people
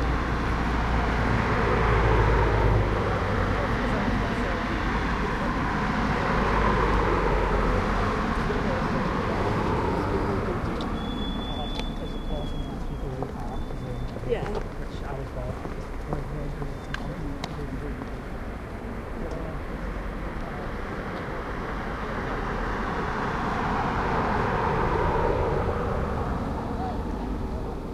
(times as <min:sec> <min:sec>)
0:03.4 0:22.6